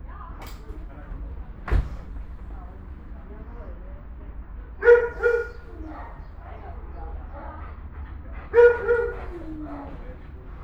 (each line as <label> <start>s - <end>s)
dogs barking 4.8s - 6.3s
dogs barking 8.4s - 10.6s